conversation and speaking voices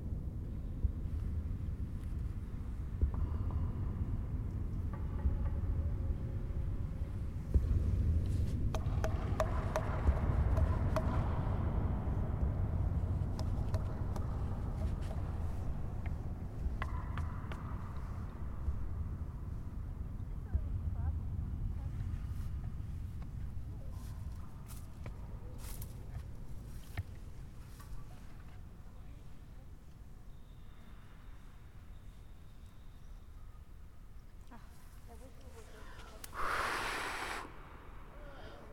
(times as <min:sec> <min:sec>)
0:34.4 0:37.4